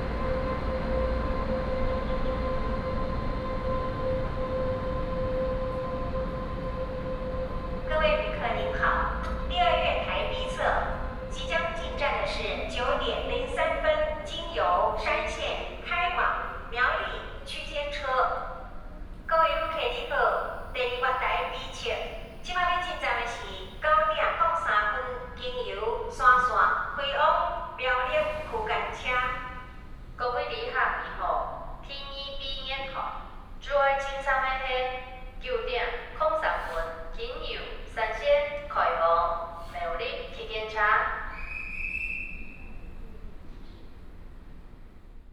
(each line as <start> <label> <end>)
0.0 Train arrives and leaves 45.3
6.1 Station information broadcast 17.4
19.3 Station information broadcast 25.4